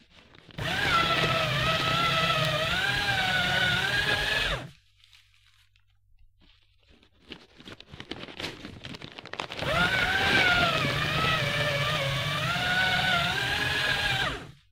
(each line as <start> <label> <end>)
0.0 paper rustling 3.0
0.0 shredding two sheets of paper 14.7
4.6 paper rustling 11.6